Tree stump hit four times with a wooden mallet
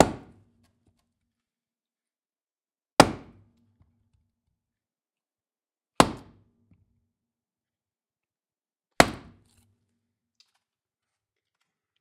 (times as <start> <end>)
0.0 0.6, 3.0 3.6, 5.9 6.9, 9.0 9.6